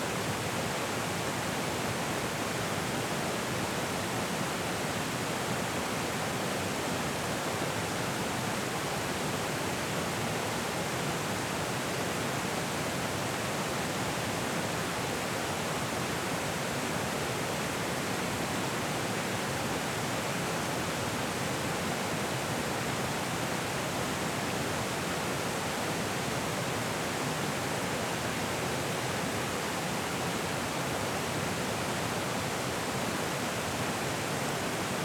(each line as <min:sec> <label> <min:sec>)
0:00.0 Flowing River 0:35.0